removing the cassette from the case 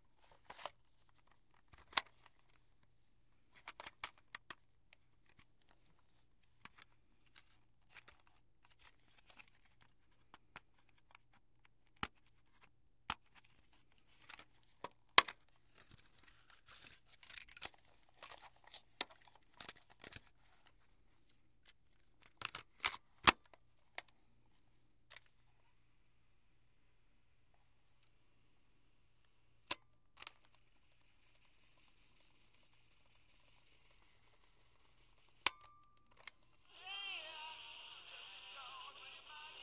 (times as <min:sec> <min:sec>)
0:22.2 0:24.1